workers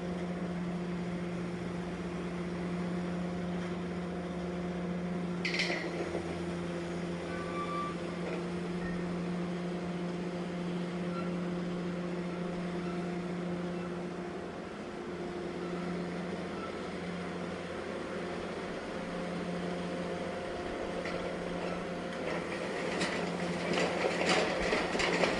5.4 25.3

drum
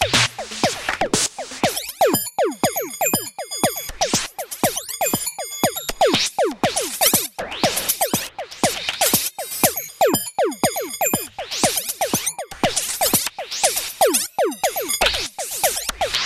0.0 4.1

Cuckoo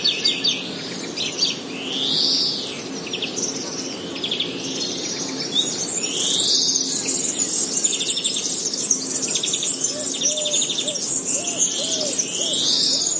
9.2 13.1

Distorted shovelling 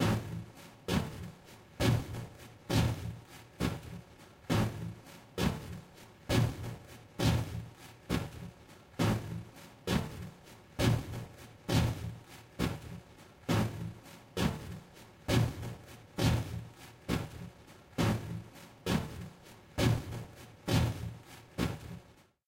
0.0 1.2

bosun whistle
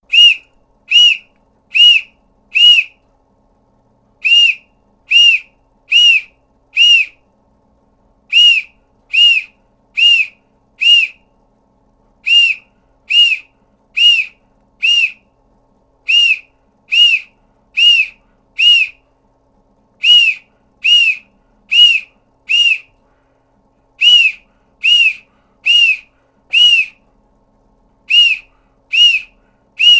0.1 3.0, 4.2 7.3, 8.3 11.3, 12.2 15.3, 16.0 19.1, 20.0 23.0, 24.0 27.1, 28.0 29.9

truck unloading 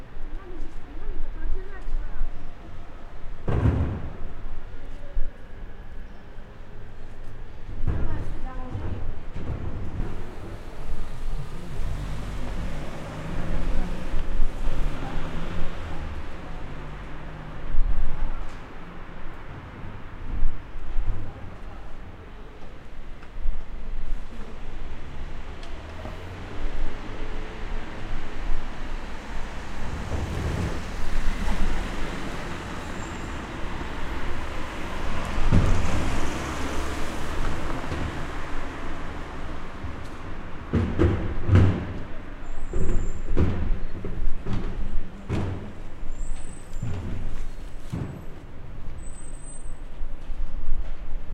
7.7 17.7, 25.8 49.8

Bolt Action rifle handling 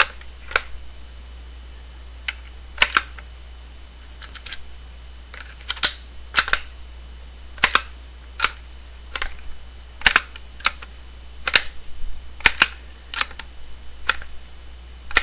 5.4 6.6

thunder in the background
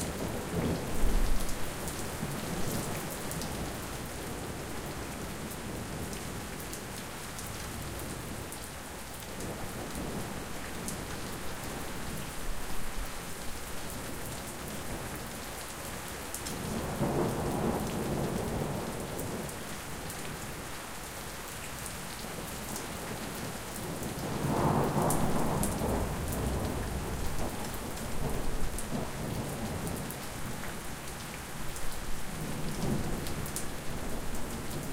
24.2 27.6

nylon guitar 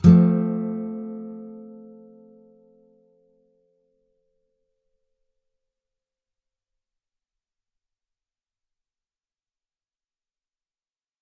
0.0 4.1

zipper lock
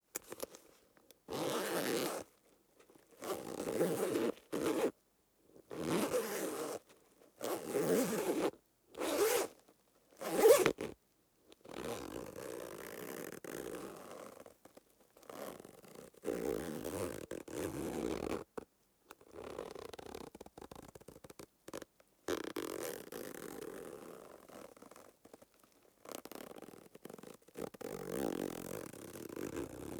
1.3 2.3, 3.2 4.9, 7.4 9.5

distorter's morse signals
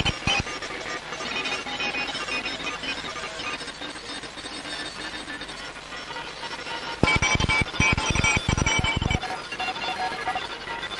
7.0 10.2

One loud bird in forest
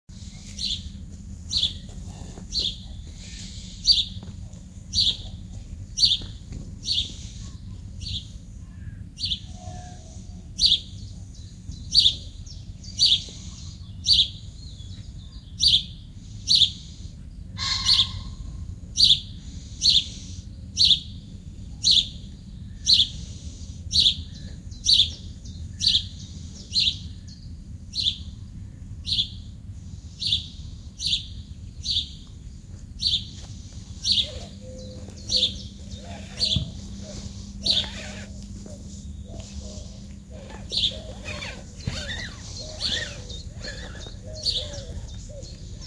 17.6 21.0, 33.0 45.8

